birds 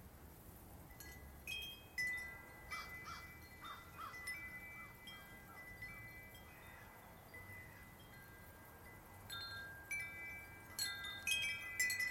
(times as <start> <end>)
2.3 8.2